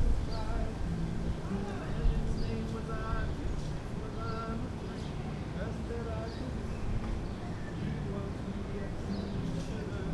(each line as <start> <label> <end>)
0.0 guitar 10.1
9.1 birdsong 10.0